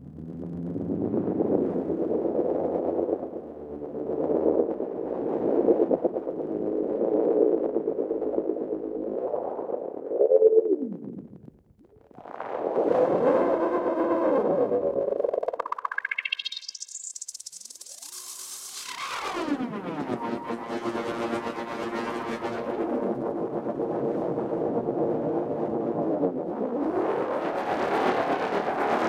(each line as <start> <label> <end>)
12.2 drone 29.0